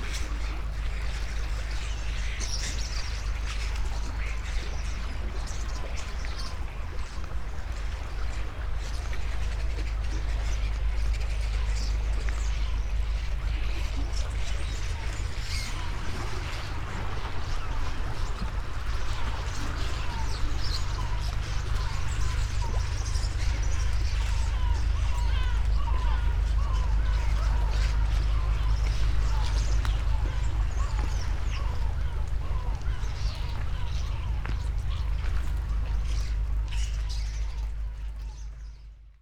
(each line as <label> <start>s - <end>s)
birds 0.0s - 39.1s